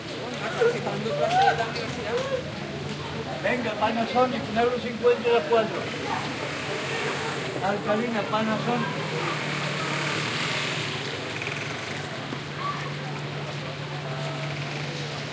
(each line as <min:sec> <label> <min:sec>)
0:00.0 streetnoise 0:15.3
0:03.2 man is selling Panasonic batteries to passers-by 0:12.3